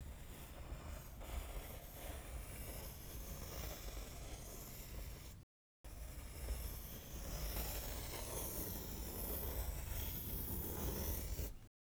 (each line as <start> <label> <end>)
0.0 Pencil stroke slow soft 5.4
6.0 Pencil stroke slow soft 11.7